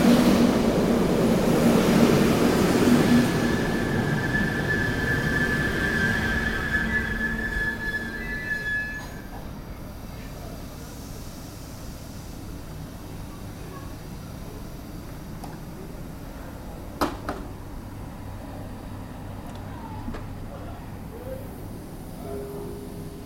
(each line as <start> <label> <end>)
0.0 trains 23.2